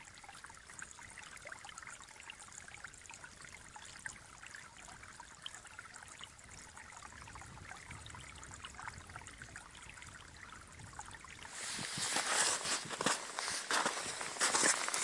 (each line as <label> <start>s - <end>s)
streams of water appearing from the melting snow 0.0s - 15.0s
walking in snow 11.5s - 15.0s